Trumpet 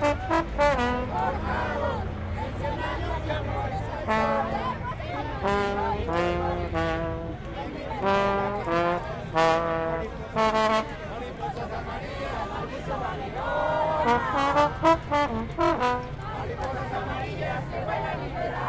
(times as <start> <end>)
0.0 1.8, 3.9 11.2, 13.9 16.3